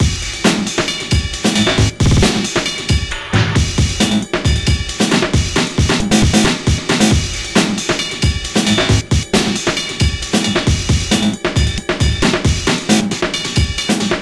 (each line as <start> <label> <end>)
2.0 drum-loop 2.6
2.0 snare 2.6
5.9 drum-loop 6.8